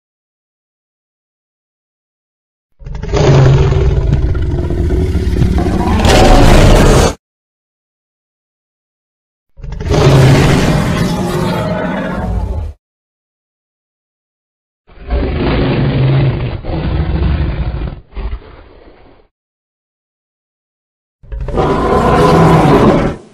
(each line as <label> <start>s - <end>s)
Dinosaur Roars and Growls 2.8s - 7.2s
Dinosaur Roars and Growls 9.6s - 12.8s
Dinosaur Roars and Growls 14.9s - 19.3s
Dinosaur Roars and Growls 21.2s - 23.3s